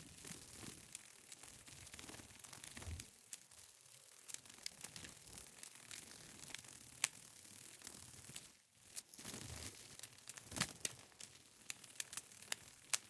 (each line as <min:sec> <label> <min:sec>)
0:00.0 peacock butterfly, with orange wings, flapping 0:13.0